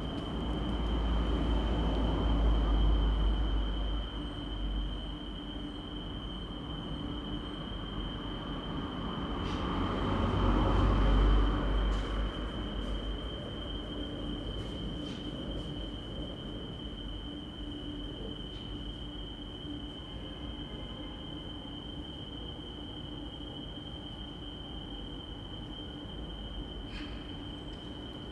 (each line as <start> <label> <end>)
9.6 traffic behind speeds past 13.0